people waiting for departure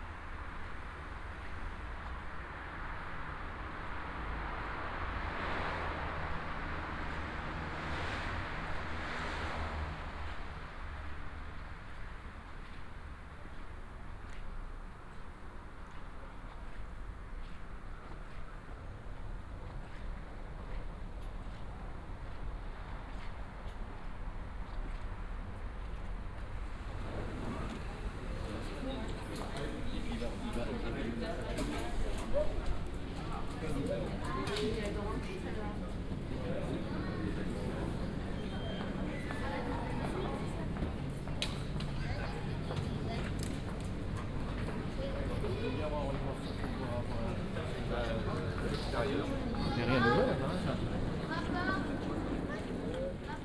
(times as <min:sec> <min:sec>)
0:14.0 0:53.4